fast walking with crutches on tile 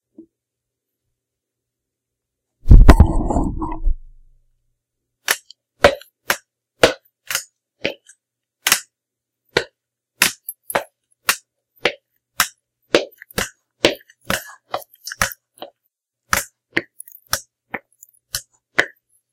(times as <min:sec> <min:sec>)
0:09.6 0:19.3